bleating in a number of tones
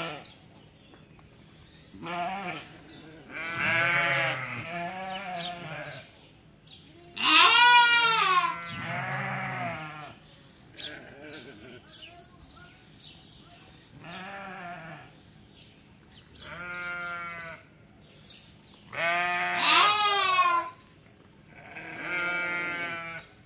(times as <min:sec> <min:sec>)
0:02.0 0:06.0, 0:07.0 0:10.2, 0:14.0 0:15.1, 0:16.4 0:17.6, 0:18.9 0:20.8, 0:21.6 0:23.3